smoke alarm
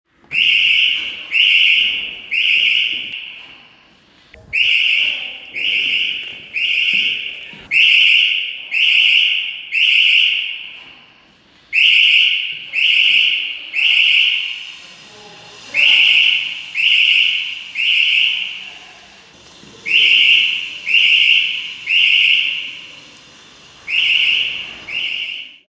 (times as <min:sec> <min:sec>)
0:00.3 0:03.4, 0:04.5 0:10.8, 0:11.7 0:14.8, 0:15.7 0:18.6, 0:19.8 0:22.9, 0:23.8 0:25.7